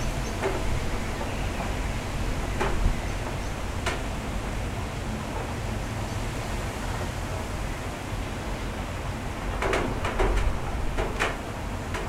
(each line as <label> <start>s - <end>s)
Rain 0.0s - 12.0s
Wind 0.0s - 12.0s